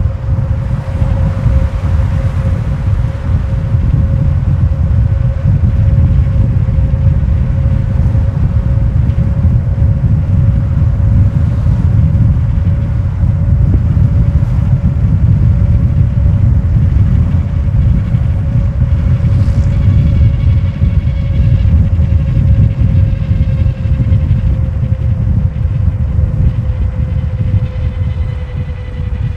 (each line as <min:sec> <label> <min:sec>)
0:00.0 wind strikes the mic hard 0:29.3